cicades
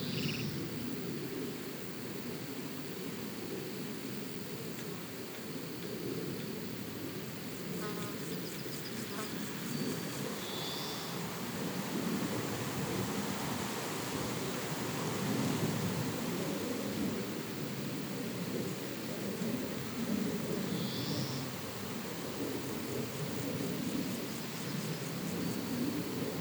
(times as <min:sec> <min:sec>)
0:08.1 0:16.4, 0:19.5 0:26.4